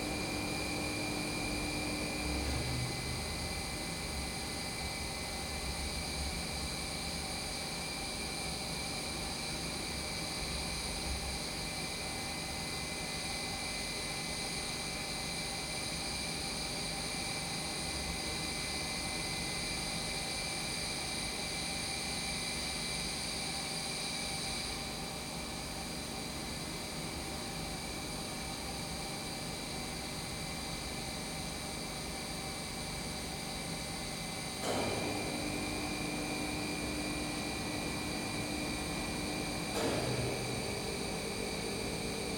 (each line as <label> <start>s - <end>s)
brewing craft beer 34.6s - 42.3s